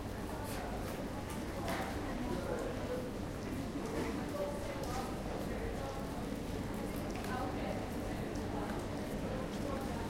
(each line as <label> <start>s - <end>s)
train 0.0s - 3.1s
people passing through the arrival hall 0.0s - 10.0s